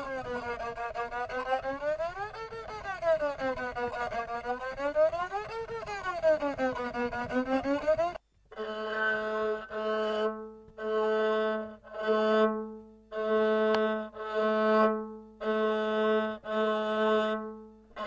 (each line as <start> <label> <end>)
0.0 tynryn (Nivkh fiddle) 18.0